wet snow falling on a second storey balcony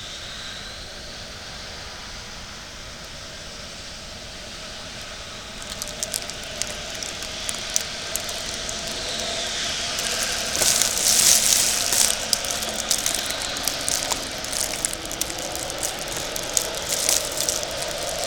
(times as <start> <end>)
5.6 18.2